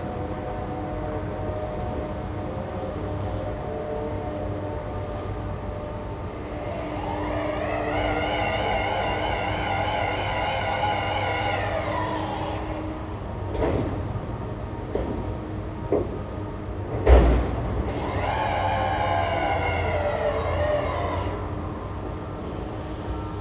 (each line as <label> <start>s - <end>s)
other heavy machines 0.0s - 23.4s
traffic 0.0s - 23.4s